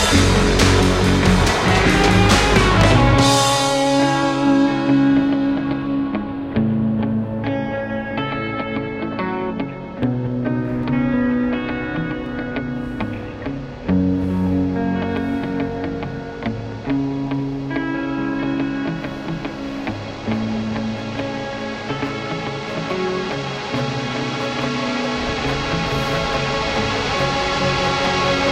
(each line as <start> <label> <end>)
0.0 drums 6.0
0.0 guitar 28.5
22.2 stroh violin 28.5